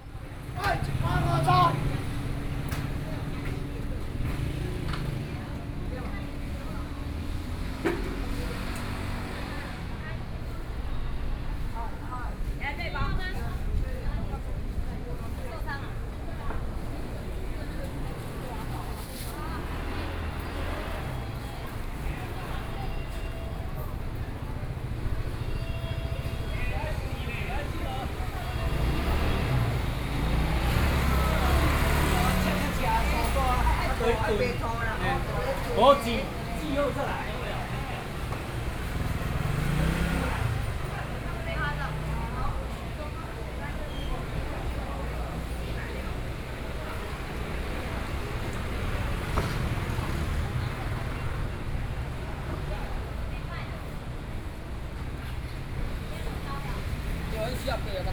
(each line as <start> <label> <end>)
0.0 Traffic Sound 58.1
0.0 Walking through the traditional market 58.1